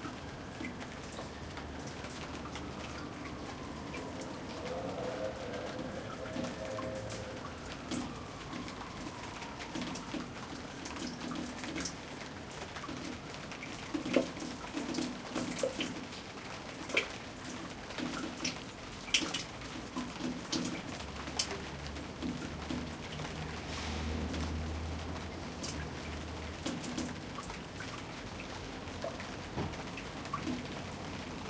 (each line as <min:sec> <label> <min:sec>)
0:00.0 rain 0:31.4